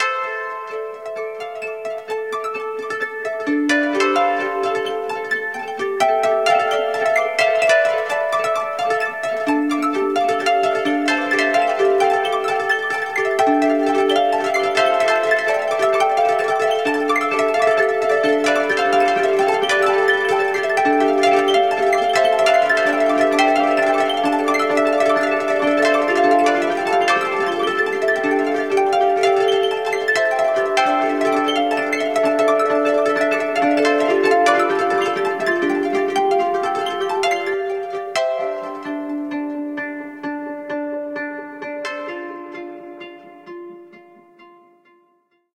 wind chimes 0.0 - 44.8

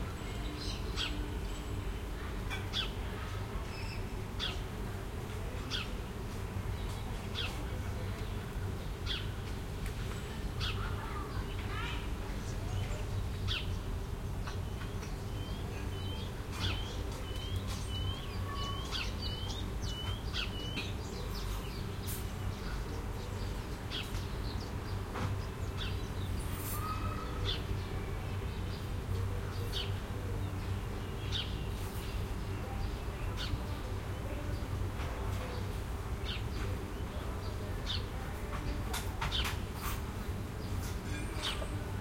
Wind through trees 0.0 - 42.0
children in the distance 0.0 - 42.0
bird calls 14.4 - 27.8

